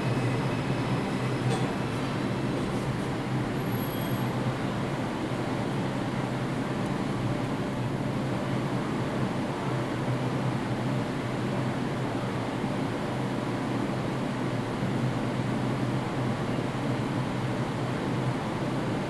0.0s train coming n going 19.0s

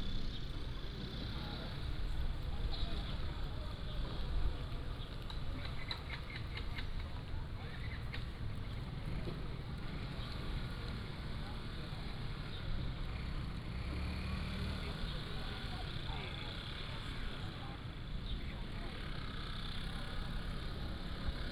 0.0s Traffic Sound 21.5s

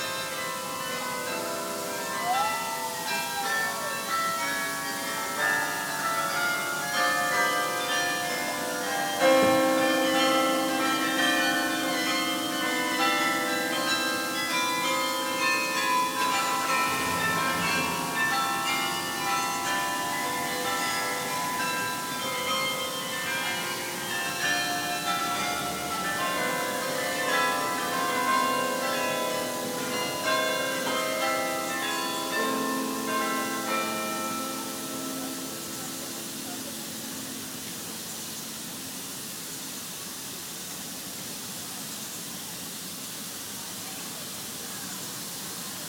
0.0s Campanille chimes 39.0s

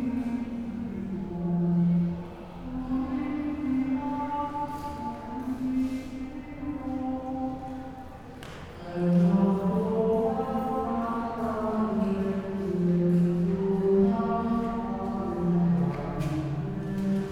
0.0s church sings at night 17.3s

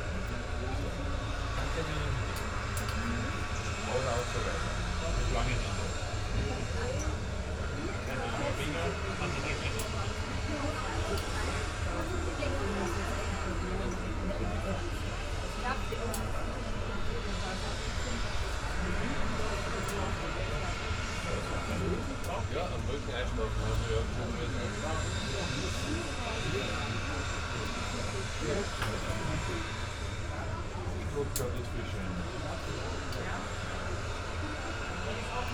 0.0s windy terrace 35.5s

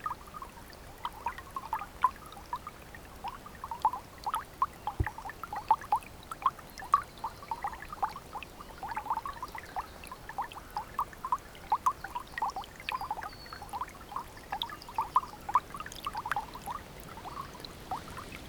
16.0s Roaring river 18.4s

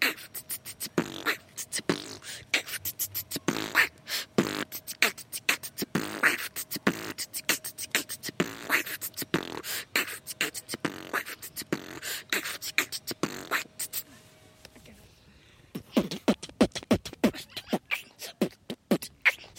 0.0s Beatbox battle 14.1s
15.7s Beatbox battle 19.5s

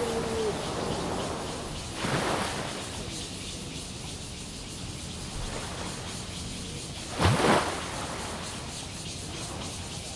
0.0s Sound tide 4.3s
0.0s Cicadas cry 10.1s

